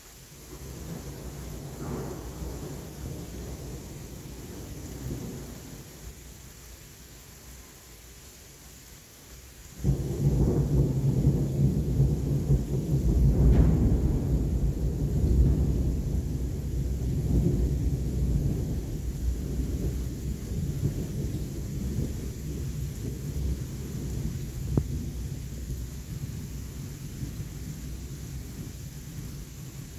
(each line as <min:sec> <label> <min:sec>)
0:00.5 close perspective thunder booms 0:05.8
0:09.8 close perspective thunder booms 0:27.8